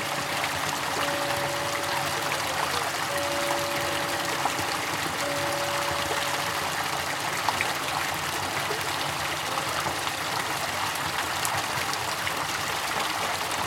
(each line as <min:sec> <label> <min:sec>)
0:00.0 bells 0:07.8
0:00.0 water 0:13.6
0:01.0 people talking nearby 0:06.6